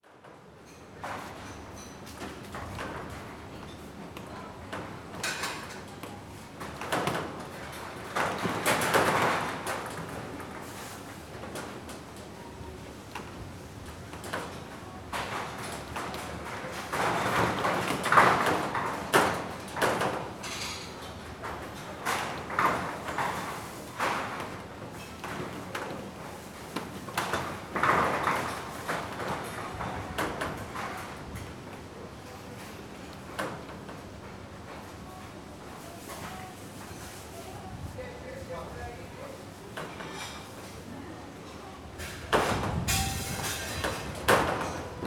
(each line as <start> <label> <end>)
0.0 sounds of a nearby restaurant 45.0
6.6 the whole roof bounces, rattles and bangs against the pipes 10.6
14.1 the whole roof bounces, rattles and bangs against the pipes 26.1
26.8 the whole roof bounces, rattles and bangs against the pipes 31.6
42.1 the whole roof bounces, rattles and bangs against the pipes 45.0